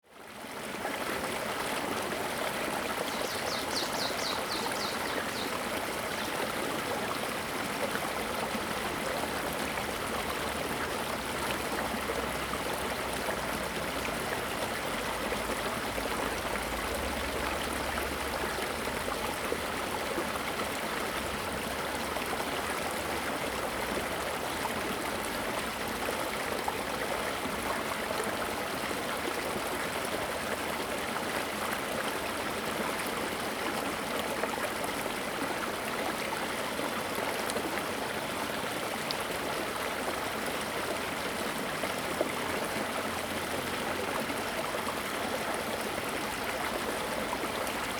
birds sound 0:03.0 - 0:06.5

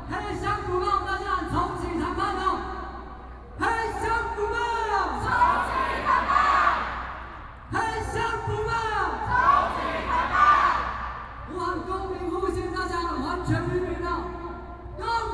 Shouting slogans 0:05.0 - 0:07.2
Shouting slogans 0:08.9 - 0:11.2

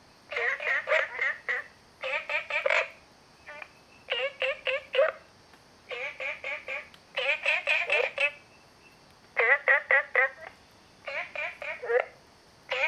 Frogs sound 0:00.3 - 0:05.3
Frogs sound 0:05.9 - 0:12.8

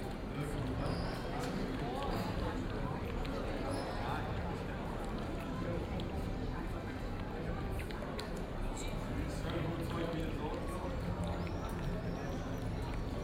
people in restaurants chat 0:00.0 - 0:13.2

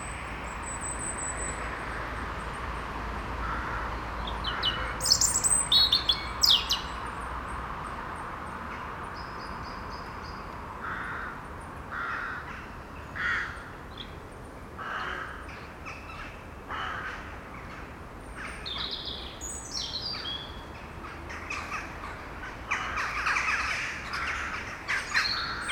cars driving the small street 0:00.0 - 0:25.7
Crows war 0:03.4 - 0:06.8
blackbird sing very near the recorder 0:04.2 - 0:07.1
Crows war 0:10.8 - 0:13.7
Crows war 0:14.8 - 0:15.5
Crows war 0:16.1 - 0:17.3
blackbird sing very near the recorder 0:18.4 - 0:20.7
Crows war 0:21.1 - 0:25.7
blackbird sing very near the recorder 0:22.7 - 0:25.7

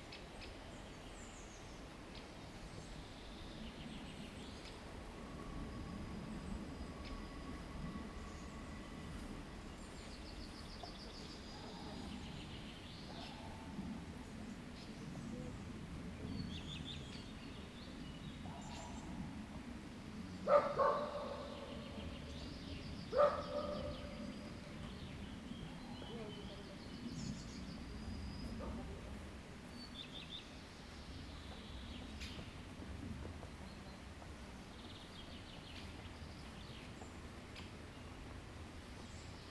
Birds singing 0:00.0 - 0:39.5
dog barking 0:20.5 - 0:21.5
dog barking 0:23.1 - 0:24.0

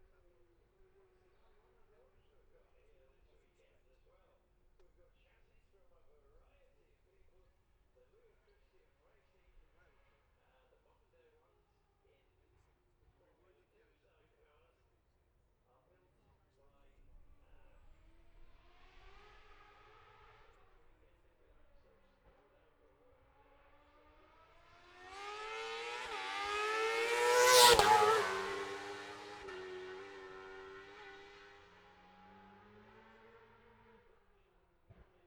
F2 sidecars 0:23.5 - 0:34.2

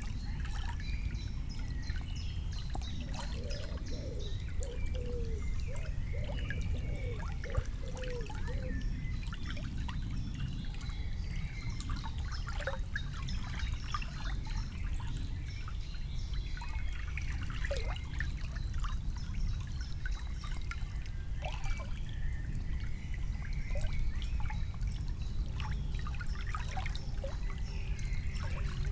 quiet river 0:00.0 - 0:28.9

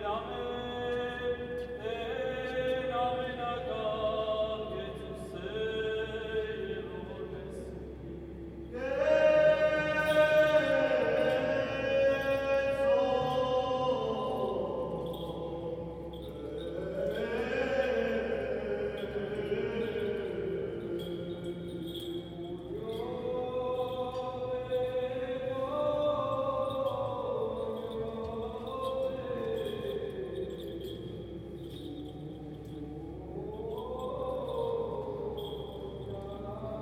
chanting 0:00.0 - 0:36.8

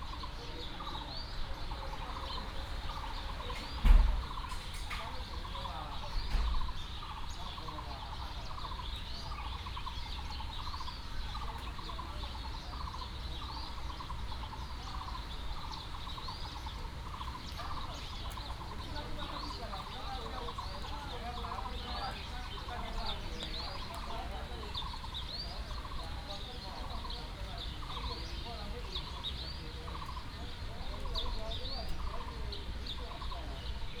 birds sound 0:00.0 - 0:34.0

